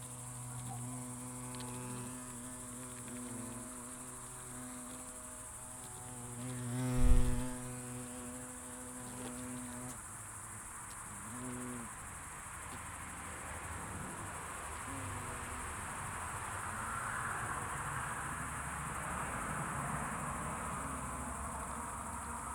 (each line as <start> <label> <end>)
0.0 wasp nest activity 12.0